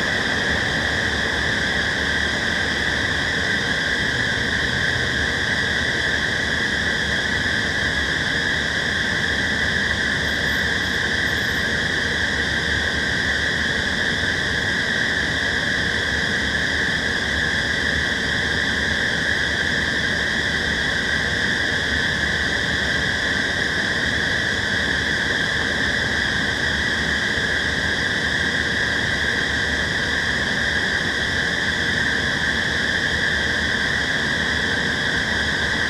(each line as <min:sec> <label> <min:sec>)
0:00.0 screeching fans 0:35.8